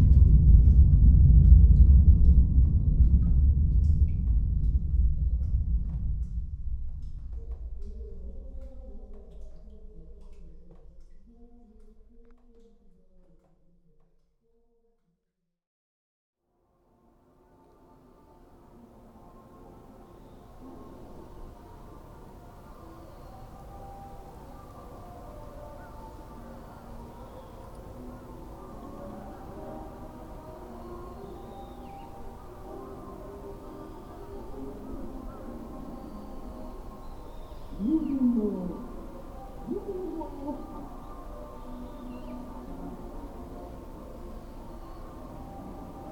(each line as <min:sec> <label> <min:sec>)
0:00.0 Water dripping within the tunnel 0:14.2
0:37.7 Propaganda broadcast 0:41.8